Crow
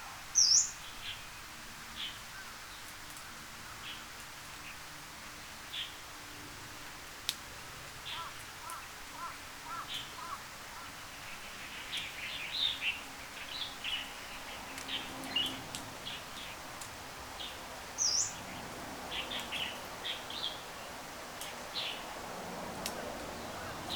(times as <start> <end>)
8.1 11.0